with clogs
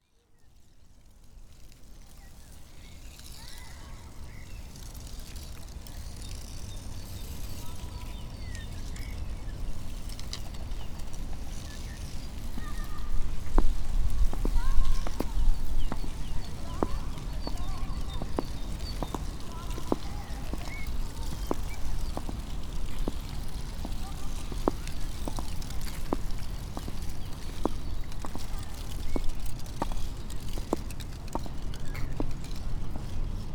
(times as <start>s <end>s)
10.2s 33.2s